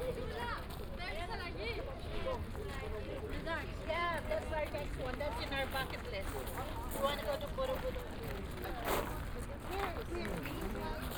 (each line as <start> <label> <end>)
2.6 steps of tourists on a crushed limestone make a crunching sound 11.1